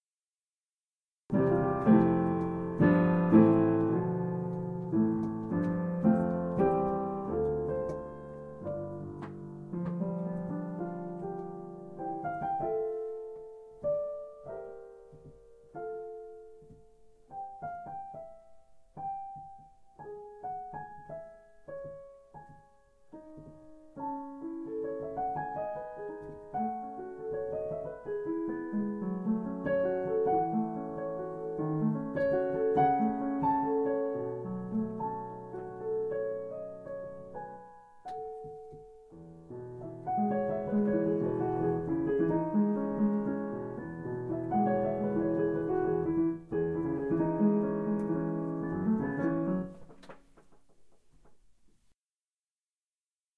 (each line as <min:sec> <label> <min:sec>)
0:01.3 Roland Digital Piano 0:51.9
0:01.3 creaking piano bench 0:12.6
0:39.8 creaking piano bench 0:51.6